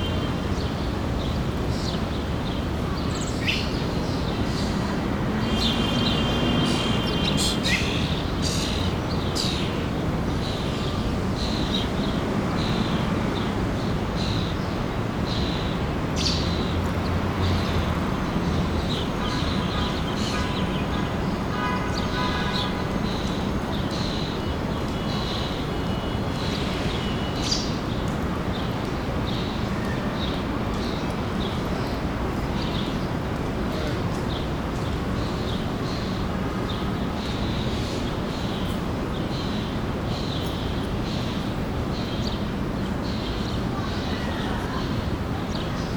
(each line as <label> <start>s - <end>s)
traffic 0.0s - 45.9s
bird sounds 0.0s - 12.9s